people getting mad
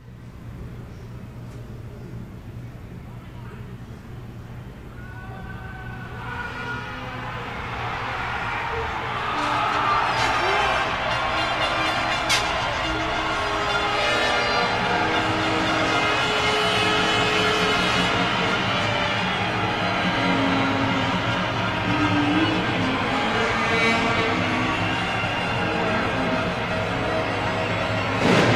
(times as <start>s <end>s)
7.4s 28.5s